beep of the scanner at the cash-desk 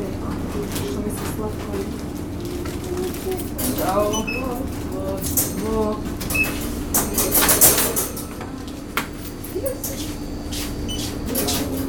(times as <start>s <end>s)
4.1s 4.6s, 6.3s 6.7s, 9.9s 11.8s